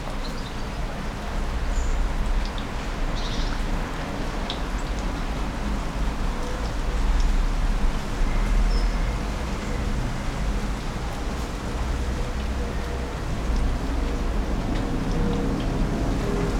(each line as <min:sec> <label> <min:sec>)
0:00.0 light rain 0:16.5